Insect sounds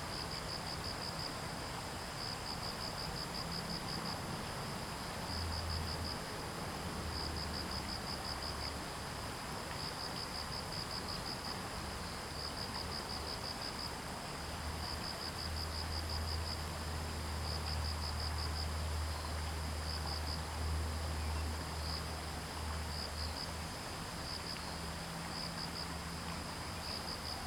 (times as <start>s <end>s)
9.6s 27.4s